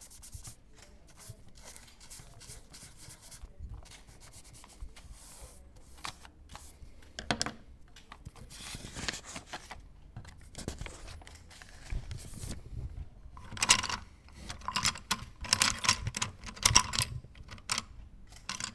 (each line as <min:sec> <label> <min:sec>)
0:00.0 drawing class 0:06.9